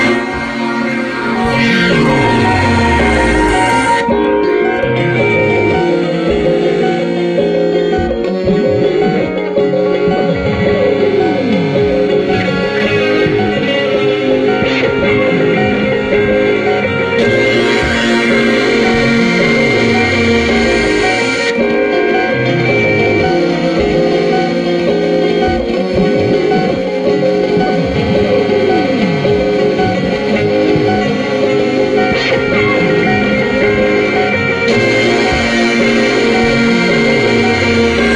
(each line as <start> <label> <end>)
0.0 guitar 38.1